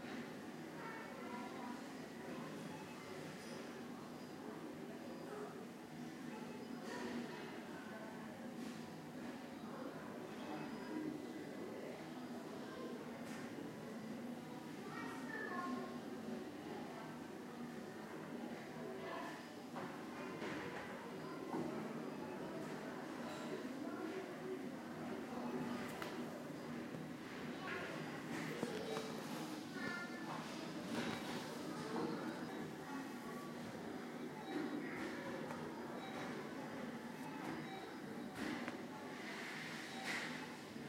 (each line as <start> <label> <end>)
37.2 beeps 38.1